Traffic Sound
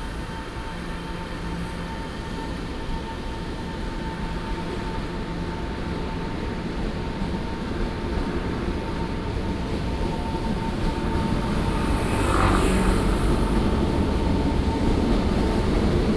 7.3 16.1

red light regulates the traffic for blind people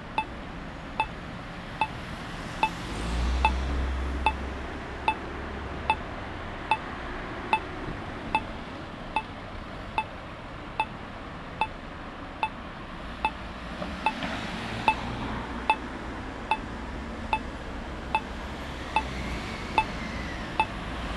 17.3 20.8

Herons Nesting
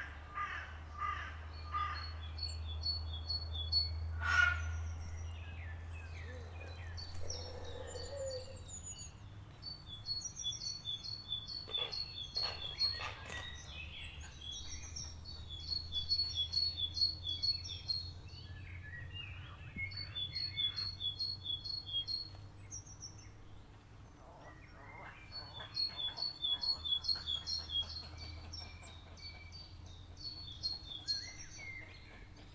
5.8 8.7

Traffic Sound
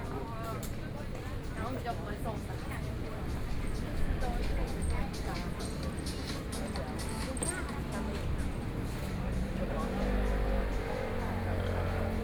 3.3 12.2

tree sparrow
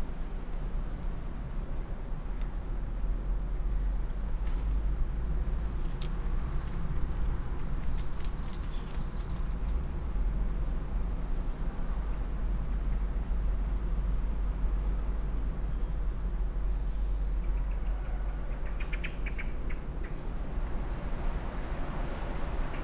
5.6 9.8

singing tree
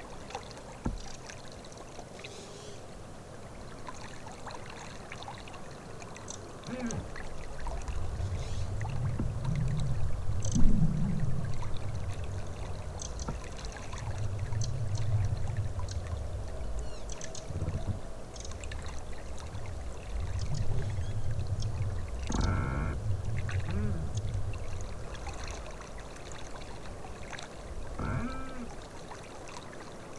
15.8 18.7

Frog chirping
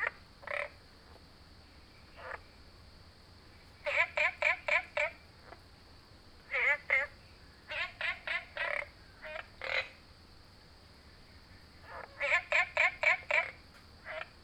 0.0 0.8, 2.1 2.5, 3.8 5.6, 6.5 10.0, 11.8 14.4

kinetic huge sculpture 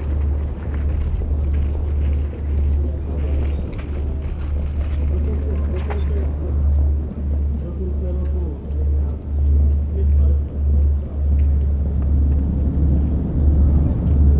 0.0 7.6

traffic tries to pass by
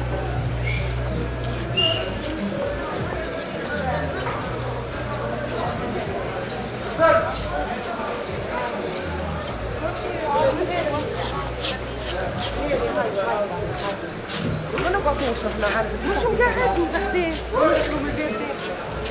0.0 13.0

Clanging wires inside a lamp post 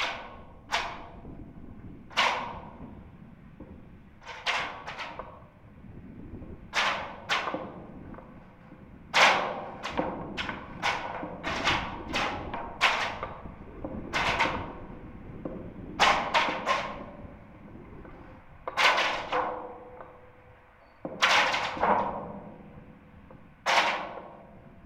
9.1 13.5

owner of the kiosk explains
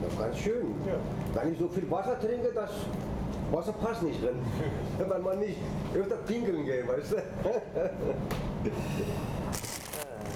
0.0 7.9

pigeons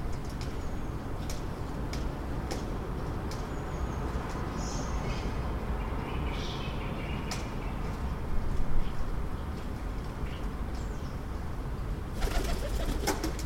12.2 13.4

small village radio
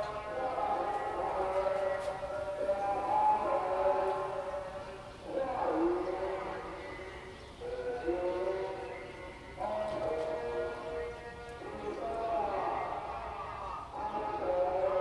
5.5 15.0

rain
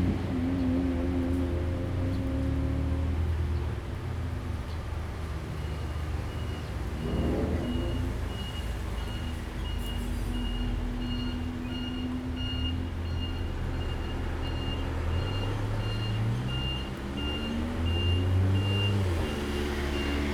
0.0 6.2

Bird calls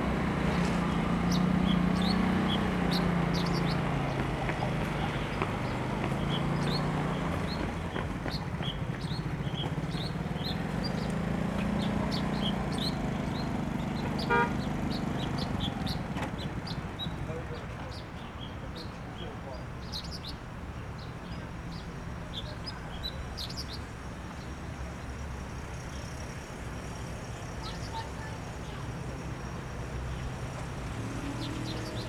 0.1 20.4

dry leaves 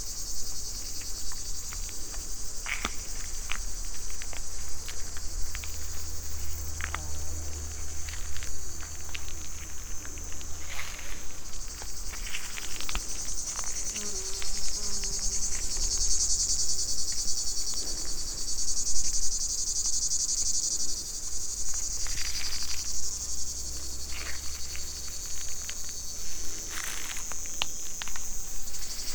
0.4 19.5

